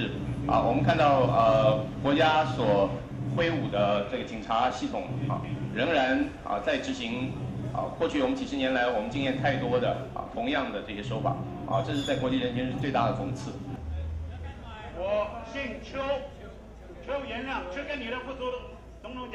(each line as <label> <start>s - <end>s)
Protest and confrontation 0.0s - 19.3s